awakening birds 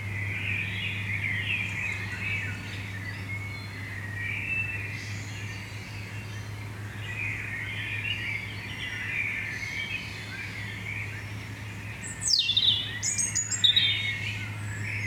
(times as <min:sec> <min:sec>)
0:11.8 0:15.0